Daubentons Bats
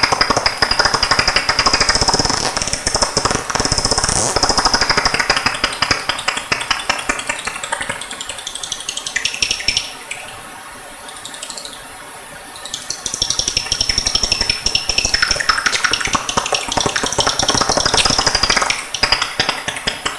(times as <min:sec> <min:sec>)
0:12.6 0:20.1